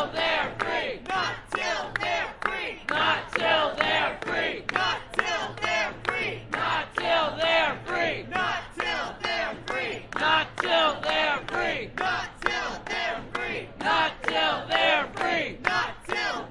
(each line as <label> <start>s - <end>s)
chant 0.0s - 16.5s